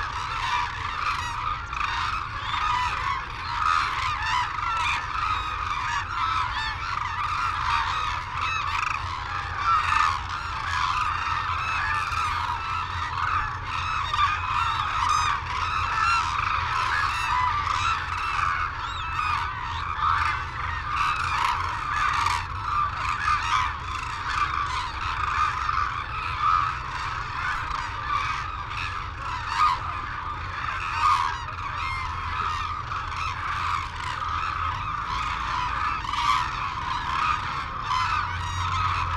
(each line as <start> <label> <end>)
0.0 calls and flight calls from white naped cranes and hooded cranes 39.1
0.0 windy 39.1